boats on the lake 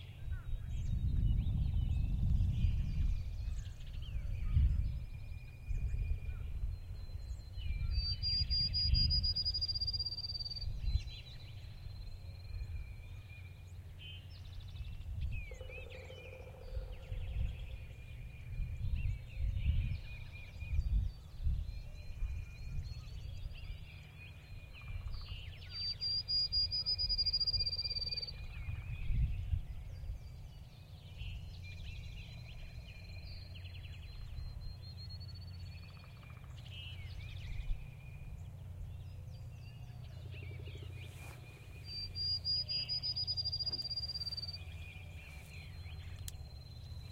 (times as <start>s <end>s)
30.6s 47.1s